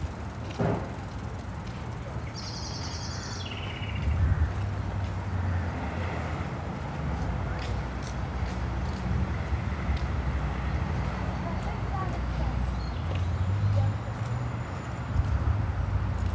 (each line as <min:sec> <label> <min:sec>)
0:00.0 someone working at the back of the supermarket 0:02.6
0:00.0 birds 0:05.2
0:00.0 deep bass rumble of London Road 0:16.3
0:00.0 wind 0:16.3